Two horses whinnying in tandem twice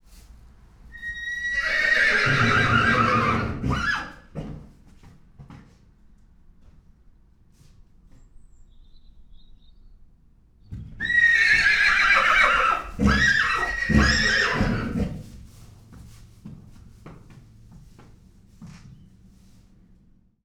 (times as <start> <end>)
1.0 4.2, 11.0 15.2